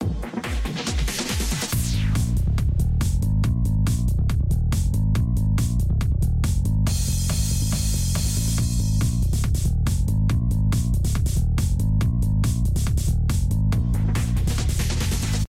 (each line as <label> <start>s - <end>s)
Bass 0.0s - 15.4s
Beat 0.0s - 15.4s